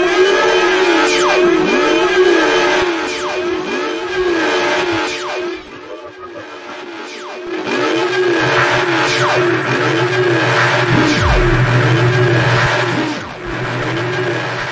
10.9s metallic noise drone 13.0s
10.9s bendy noise 12.4s
10.9s metallic scream 12.4s

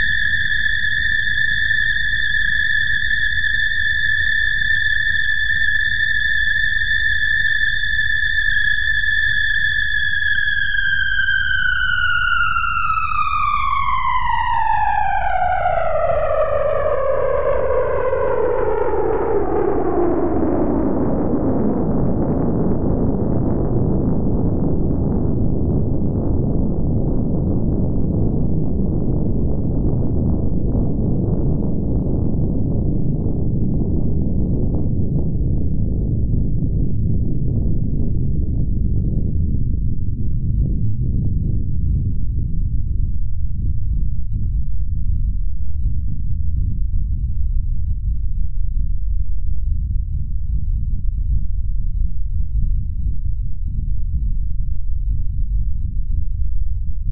0.0s noise produced by cross-modulating two sine wave oscillators 57.1s

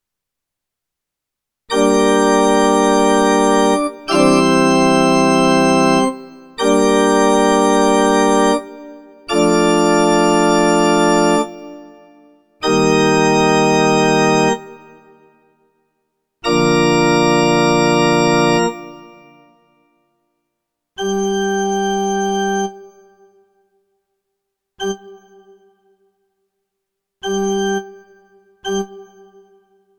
1.7s E-Piano organ 11.8s

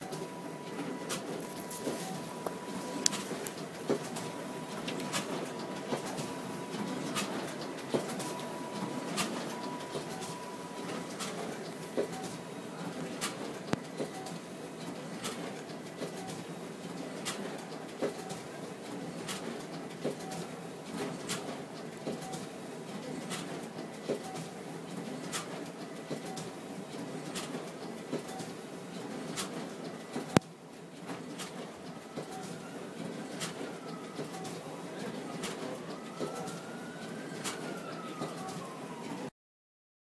0.0s ambulance sound 13.0s
0.0s copy machine at work 39.3s
33.6s ambulance sound 39.3s

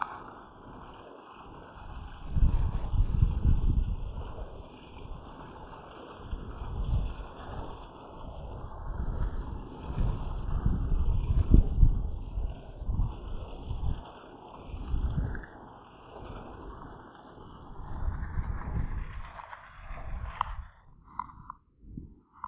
0.0s water 22.4s

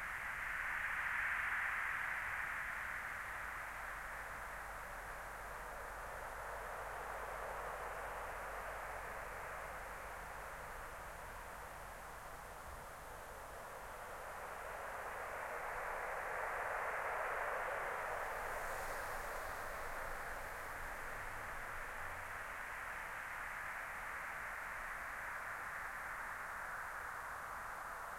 0.0s wind 28.1s

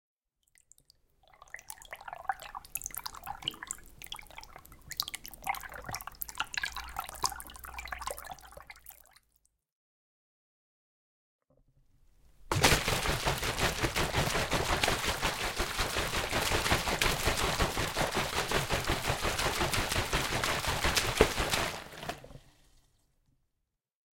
12.5s water being swirled by hand 22.7s

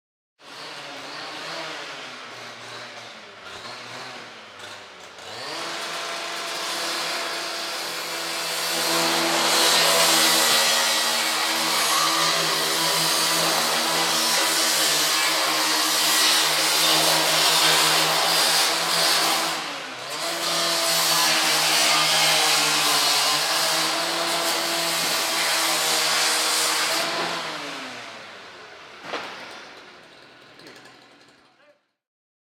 0.4s industrial, petrol-powered mechanical saw being used on metal 31.8s

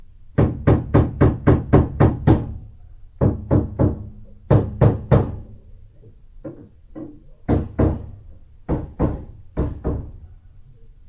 0.4s striking a nail to a wall 2.6s
3.2s striking a nail to a wall 5.6s
6.4s striking a nail to a wall 10.2s

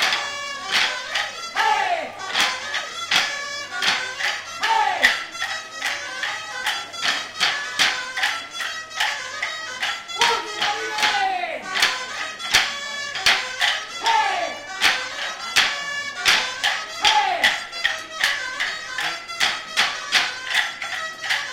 0.0s people 21.5s
0.0s traditional stick-dance 21.5s

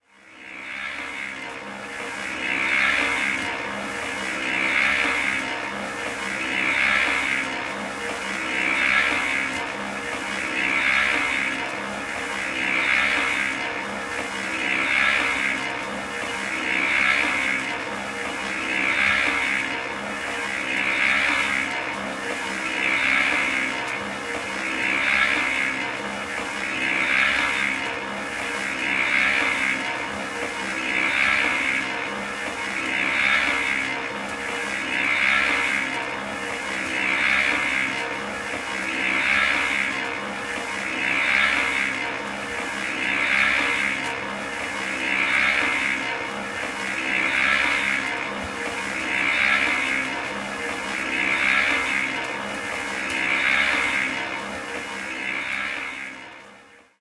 0.0s Concrete mixer, running outside 57.0s

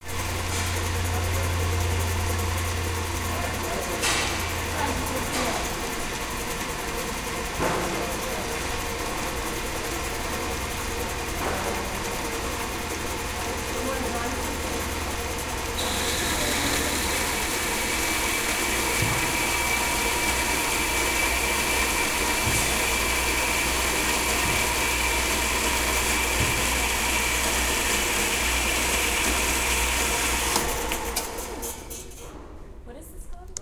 12.1s electric saw in operation cutting a piece of metal 31.8s

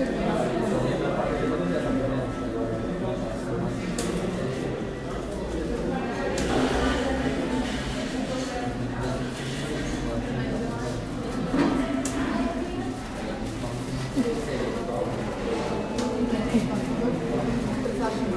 0.0s people talking 18.3s

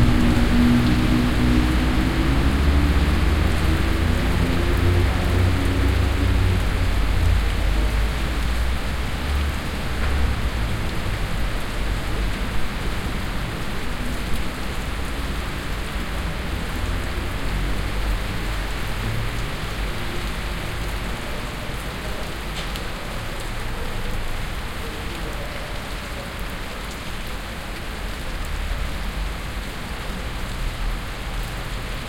0.0s rain storm 32.0s

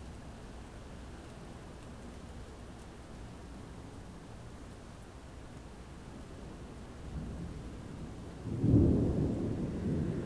0.0s rain 10.2s
7.1s thunder 10.2s

